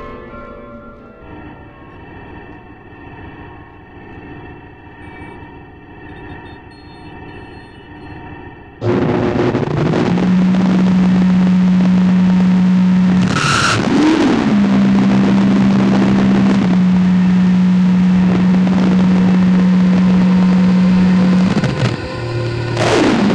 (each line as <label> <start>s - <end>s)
church bells 0.0s - 2.8s
microwave 0.0s - 8.2s
microwave 8.8s - 23.3s
child's time-stretched and reversed bellow 19.0s - 23.3s